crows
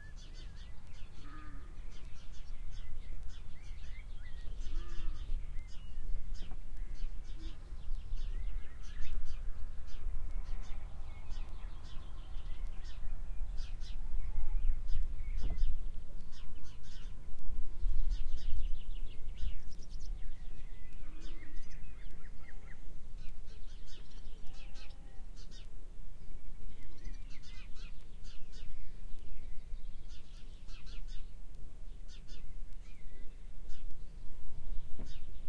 1.2 1.8, 4.7 5.3, 24.5 25.4

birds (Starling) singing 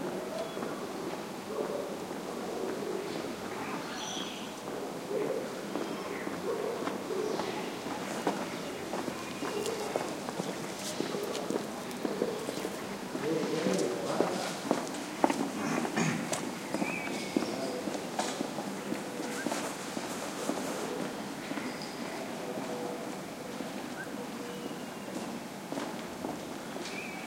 3.1 4.6

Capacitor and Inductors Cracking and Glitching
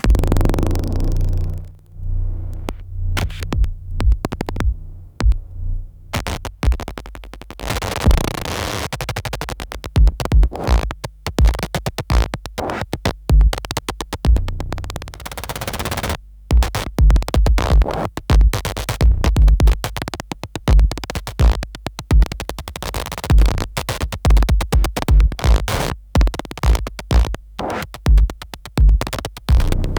0.0 11.0, 29.0 29.9

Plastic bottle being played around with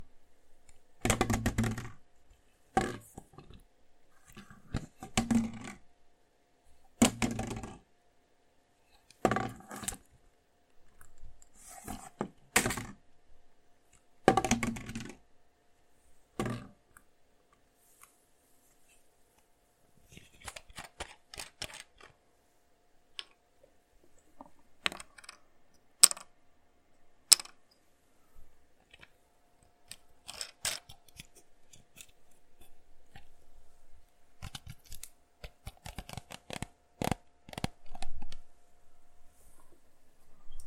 1.0 2.0, 7.0 7.8, 20.1 22.1

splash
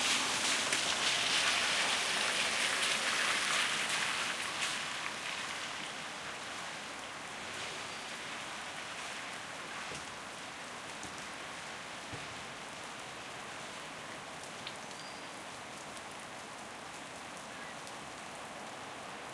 0.0 13.1

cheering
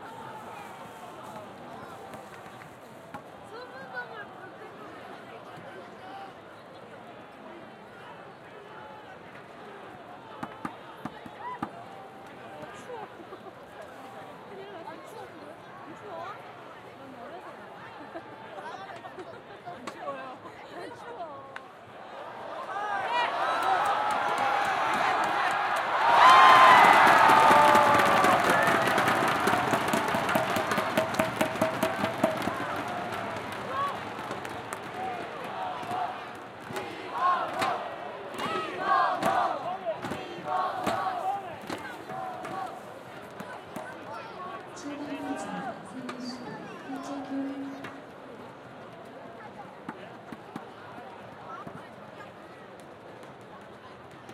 0.0 2.5, 21.8 46.4

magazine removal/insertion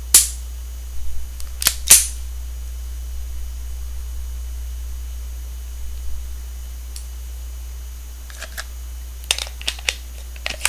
9.3 10.6

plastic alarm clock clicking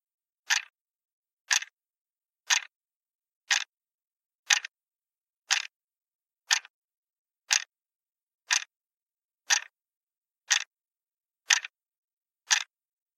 0.5 0.7, 1.5 1.8, 2.5 2.7, 3.5 3.7, 4.5 4.7, 5.5 5.7, 6.5 6.7, 7.5 7.7, 8.5 8.7, 9.5 9.7, 10.5 10.7, 11.5 11.8, 12.5 12.7

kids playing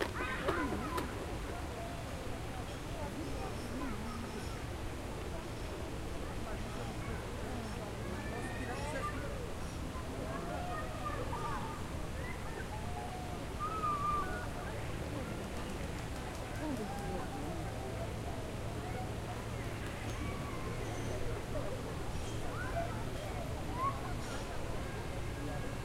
0.0 1.9, 10.2 14.8

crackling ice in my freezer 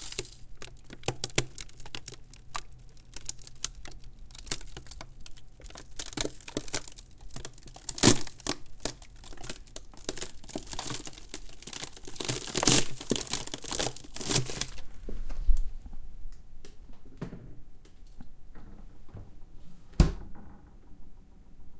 0.0 15.1

